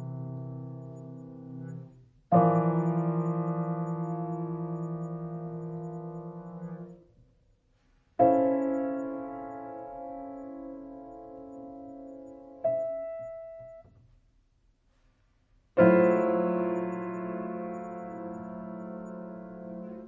Piano Improvisation 0:00.0 - 0:07.0

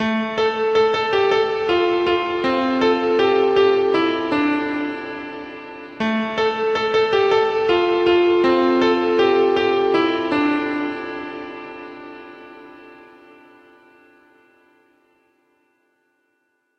simple melody on a Piano 0:00.0 - 0:16.7

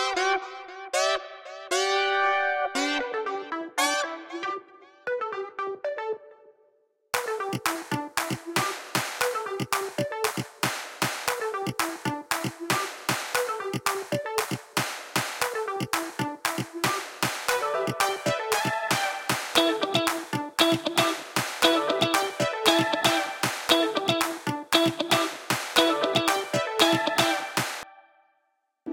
Funk Jams 0:19.3 - 0:27.4

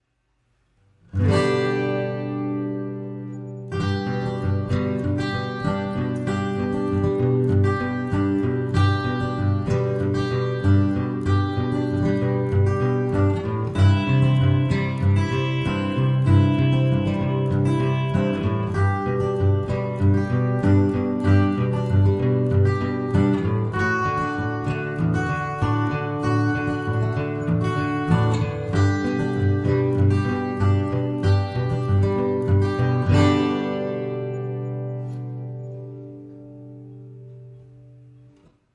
acoustic guitar 0:00.0 - 0:38.7

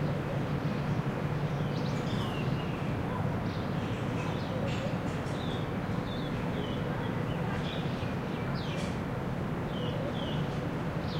people talking far away 0:00.0 - 0:01.0
distant noise from an aircon unit 0:00.0 - 0:11.1
garden birds 0:00.0 - 0:11.1
traffic sounds from the city and the street 0:00.0 - 0:11.1
people talking far away 0:02.0 - 0:11.1

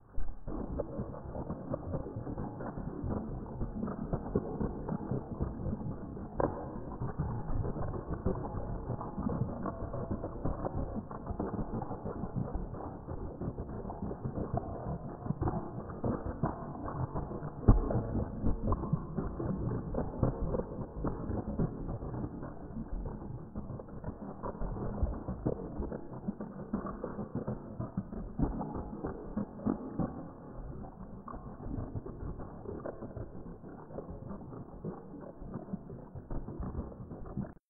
low, far-away rumbling machine 0:00.0 - 0:37.6

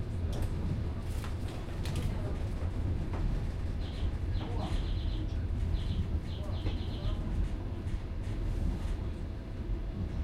Walking through a moving train passenger wagon 0:00.0 - 0:10.2
moving train passenger wagon 0:00.0 - 0:10.2

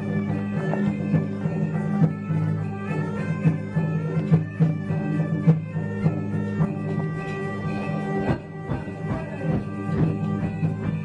crowd of people 0:00.0 - 0:11.0
skilled viking musicians played a little tune 0:00.0 - 0:11.0

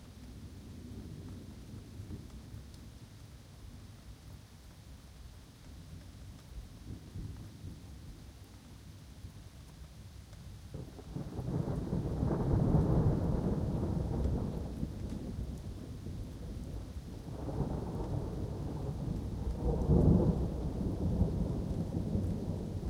rain 0:00.0 - 0:22.8
wind 0:00.0 - 0:22.8
thunder 0:10.7 - 0:22.8

